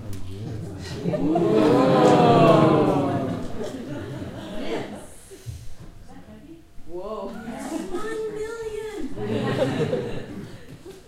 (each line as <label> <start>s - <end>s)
group of about twenty people laughing 0.6s - 5.1s
group of about twenty people laughing 9.1s - 11.0s